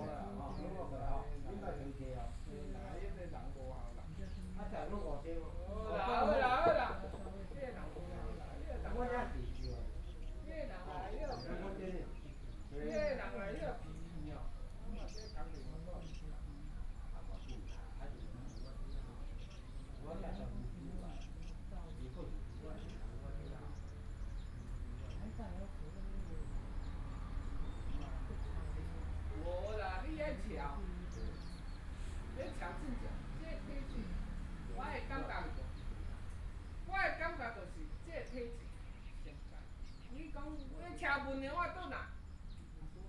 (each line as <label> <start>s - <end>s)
group of people to chat 0.0s - 43.0s
Traffic Sound 22.4s - 38.0s